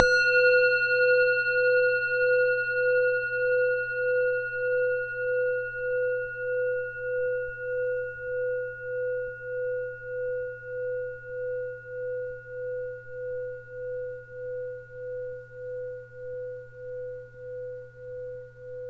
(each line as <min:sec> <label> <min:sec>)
0:00.0 Gong Bell 0:09.2